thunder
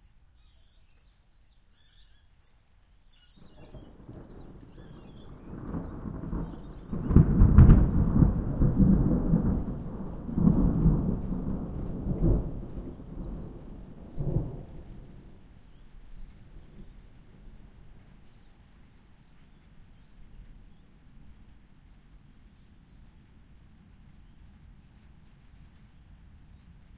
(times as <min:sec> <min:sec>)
0:03.4 0:15.4